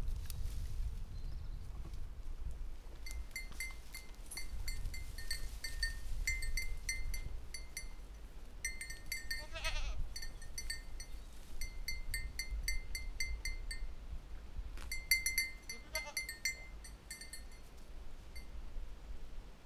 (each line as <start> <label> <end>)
2.9 goat bells 14.1
14.8 goat bells 18.6